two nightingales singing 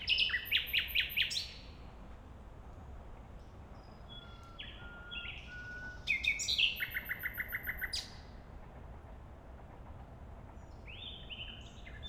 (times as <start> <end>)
0.0 1.6, 3.8 8.1